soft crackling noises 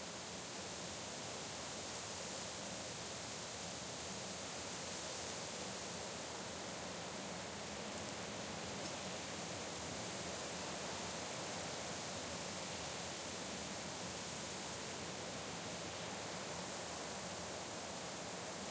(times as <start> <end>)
7.3 9.2